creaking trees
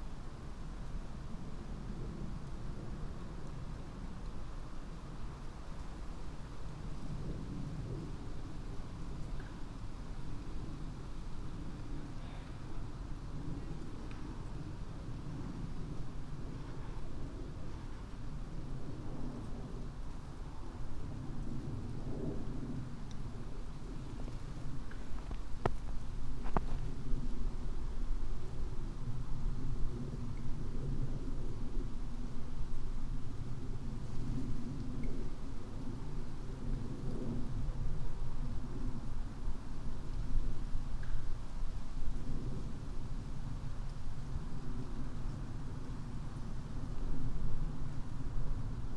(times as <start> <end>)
22.4 27.0